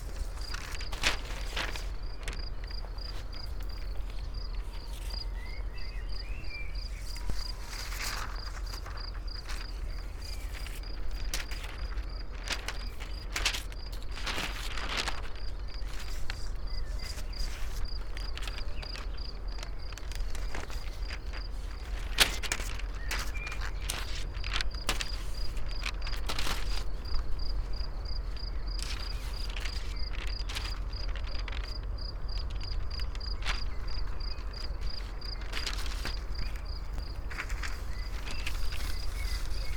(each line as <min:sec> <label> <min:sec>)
0:00.0 wind unfolds scroll books 0:39.7